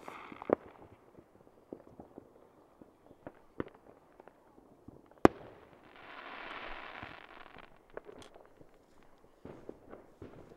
0.0s Fireworks 10.5s

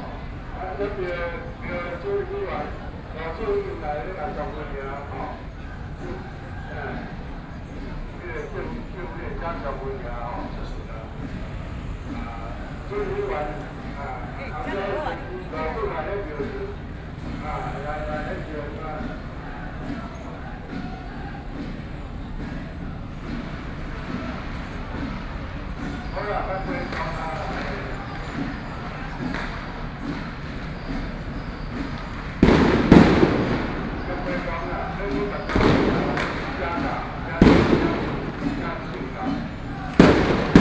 0.0s Traditional temple festivals 40.6s

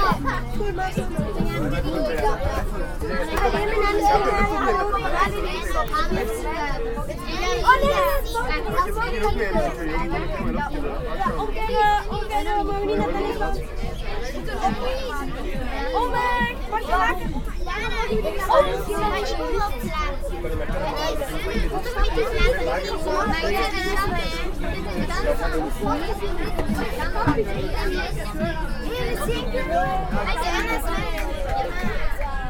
0.0s Crowded train 32.4s

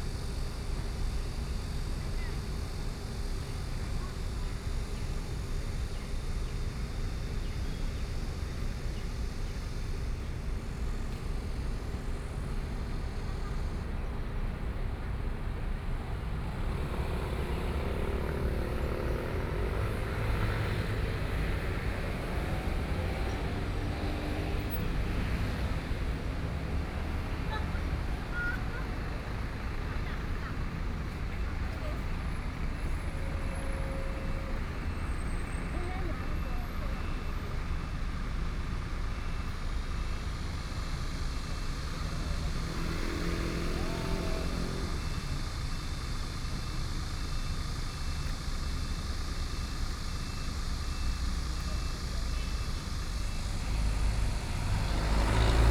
0.0s Traffic Sound 55.7s
0.0s Cicadas 55.7s

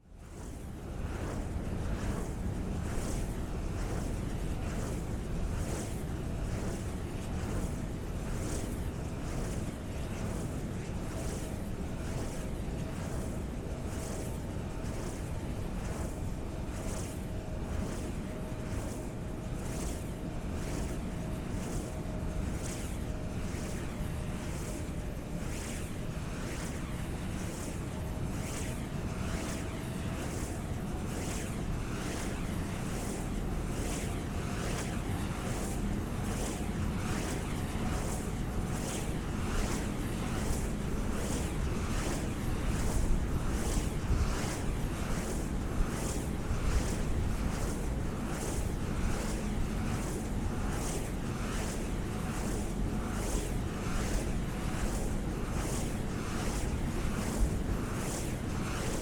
0.0s wind turbine 59.0s

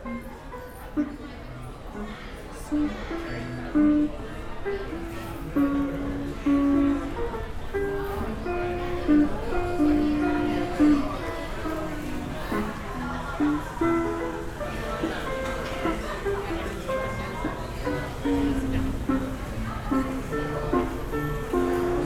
0.0s Street performer 22.0s

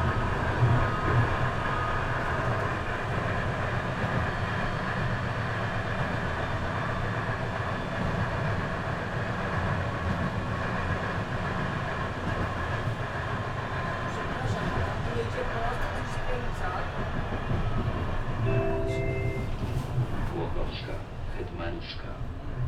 0.0s old, rattling tram 22.6s

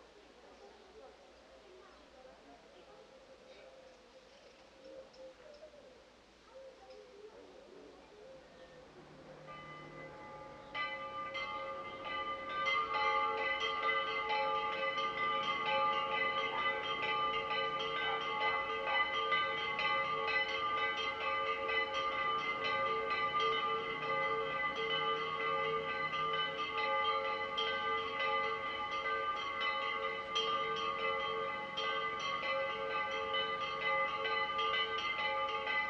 8.8s churches ring their bells 35.8s

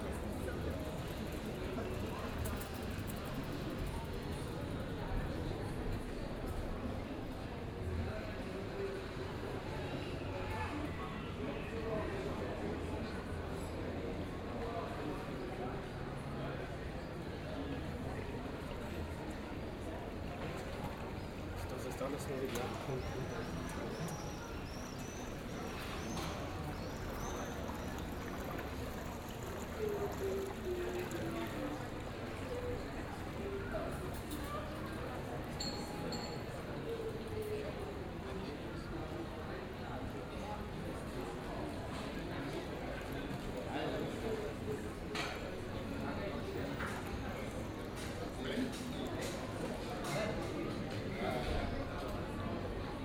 16.4s water 51.8s

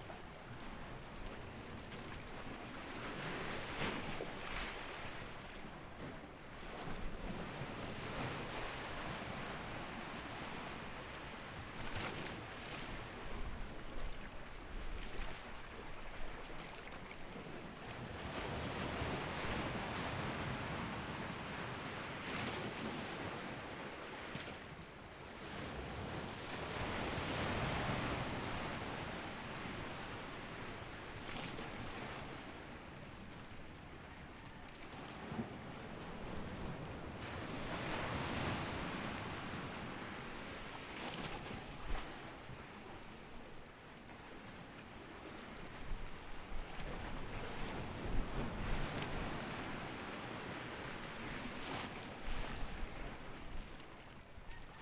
0.0s waves 54.8s

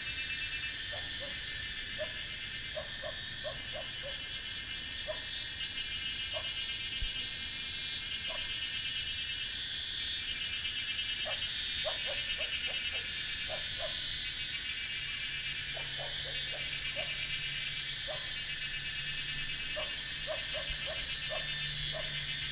0.0s Cicadas cry 22.5s

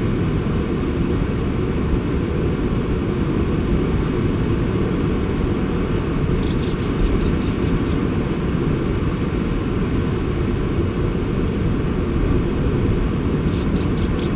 0.0s background noise of waves 14.3s
6.2s sand martins under the cliff 8.2s
13.4s sand martins under the cliff 14.3s

